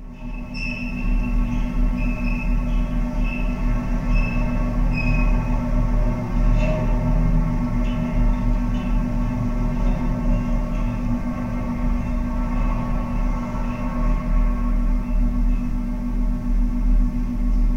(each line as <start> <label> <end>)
0.0 Traffic Through Metal Entrance Gates 17.7